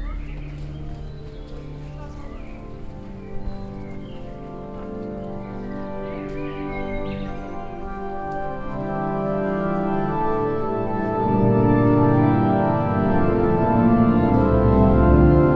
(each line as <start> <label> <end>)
0.0 birds 10.5
0.0 church organ 15.5